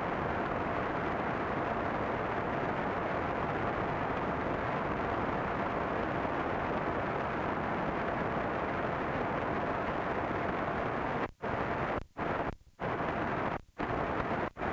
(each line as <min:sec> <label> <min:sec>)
0:08.6 Searching radio stations 0:14.7